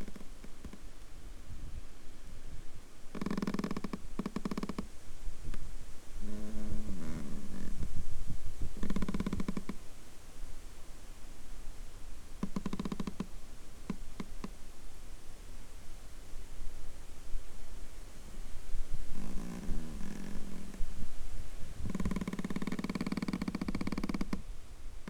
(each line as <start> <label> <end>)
5.0 wind blows 9.0